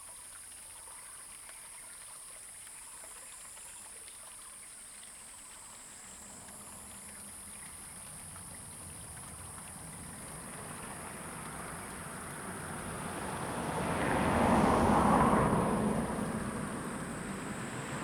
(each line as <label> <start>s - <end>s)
Stream 0.0s - 18.0s
Traffic Sound 6.1s - 18.0s